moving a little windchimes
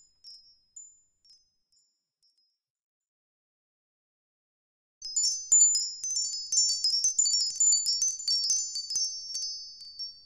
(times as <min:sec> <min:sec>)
0:05.0 0:10.2